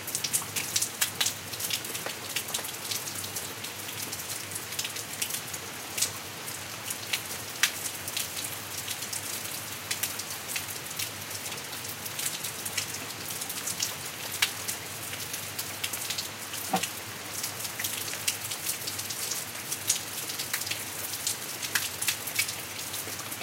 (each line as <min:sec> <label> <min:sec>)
0:00.0 rain 0:23.4